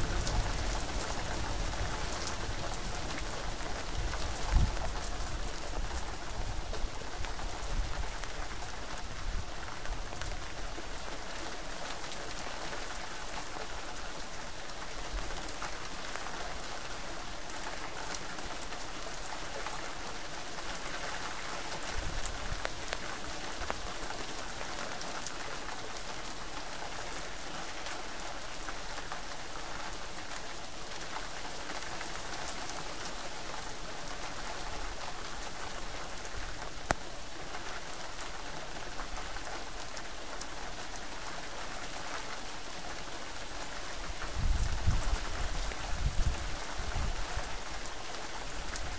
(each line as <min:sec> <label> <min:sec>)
0:00.0 loud overhead thunder 0:03.1
0:00.0 Heavy rain 0:48.9